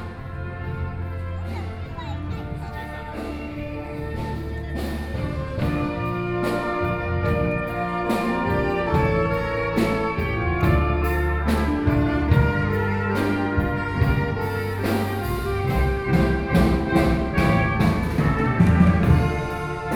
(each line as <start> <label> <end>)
0.0 Various shops voices 6.3
0.0 Tourists 19.9